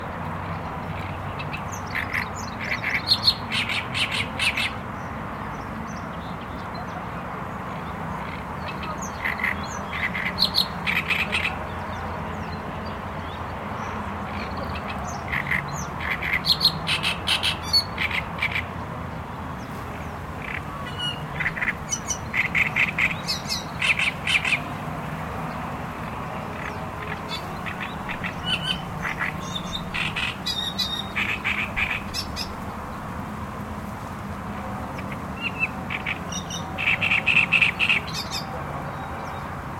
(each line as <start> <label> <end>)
0.0 noise of cars from nearby highway 39.7
20.4 Loud sound of bird 24.8
26.2 Loud sound of bird 33.0
35.0 Loud sound of bird 38.6